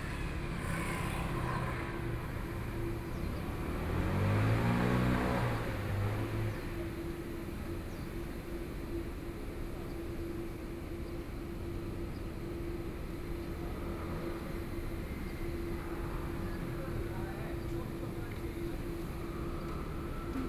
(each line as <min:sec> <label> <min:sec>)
0:00.0 Traffic Sound 0:09.2
0:12.5 Traffic Sound 0:20.4
0:14.4 airport noise 0:20.4